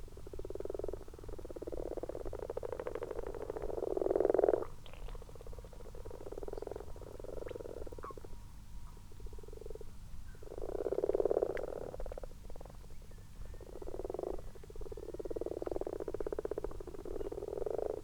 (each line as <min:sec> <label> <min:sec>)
0:00.0 common frogs 0:18.0
0:00.0 common toads 0:18.0